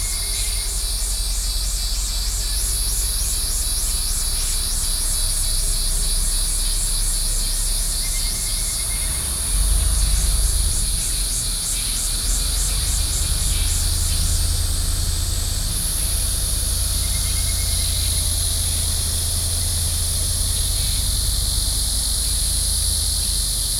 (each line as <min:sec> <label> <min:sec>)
0:00.0 Cicadas 0:23.7